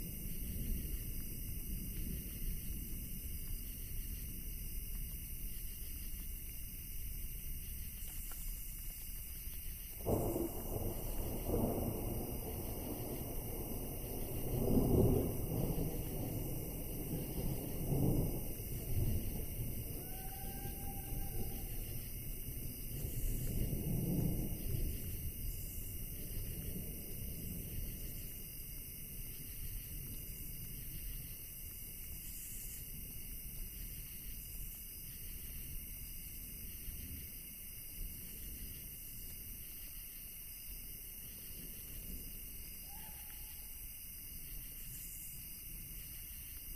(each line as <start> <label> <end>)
0.0 distant thunder 5.4
0.0 rain 46.7
9.8 distant thunder 31.3